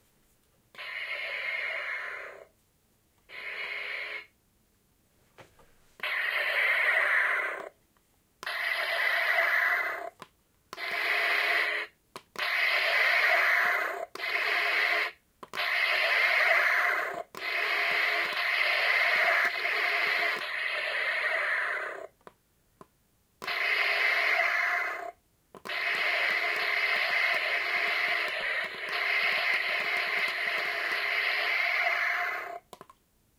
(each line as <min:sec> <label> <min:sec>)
0:32.5 clicks 0:33.0